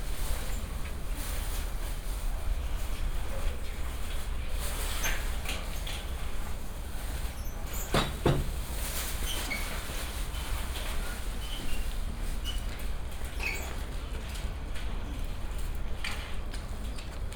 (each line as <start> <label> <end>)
0.0 moving sounds were coming from the garbage bins 17.3
0.0 people came to throw away their trash 17.3
7.9 slamming the door 8.6